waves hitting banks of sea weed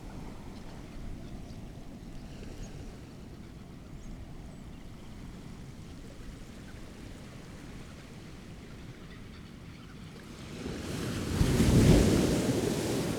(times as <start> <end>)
10.9 13.1